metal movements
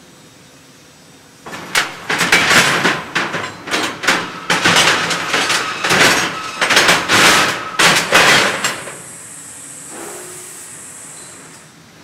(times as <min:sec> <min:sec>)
0:01.5 0:09.1